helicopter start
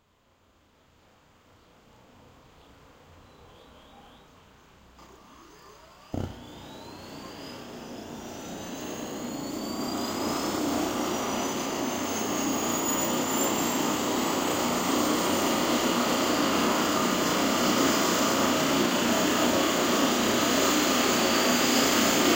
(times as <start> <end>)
5.0 15.4